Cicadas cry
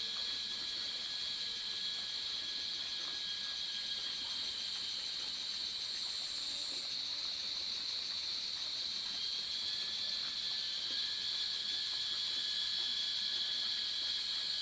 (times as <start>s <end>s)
9.2s 14.6s